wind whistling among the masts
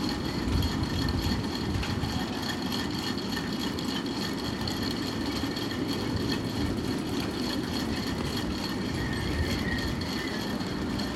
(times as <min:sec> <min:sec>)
0:05.4 0:11.1